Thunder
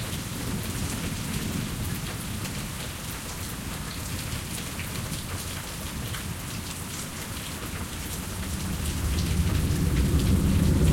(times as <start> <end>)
8.5 10.9